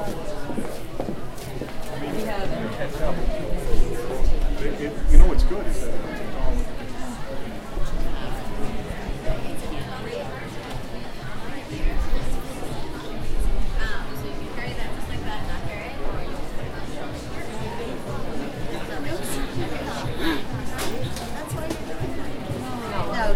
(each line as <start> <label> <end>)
0.0 conversations 23.3